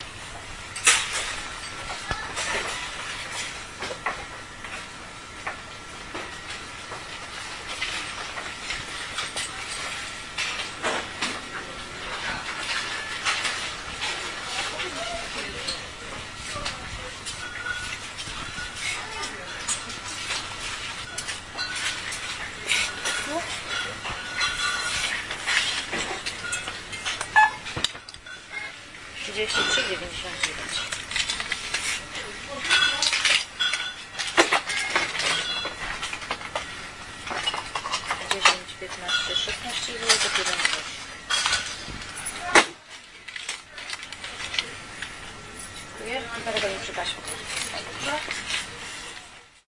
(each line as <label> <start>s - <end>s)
cash desk 6.1s - 49.6s
voice 14.4s - 17.5s
voice 18.8s - 20.2s
voice 22.6s - 23.9s
voice 29.2s - 30.9s
voice 32.0s - 33.3s
voice 38.1s - 41.0s
voice 43.8s - 49.3s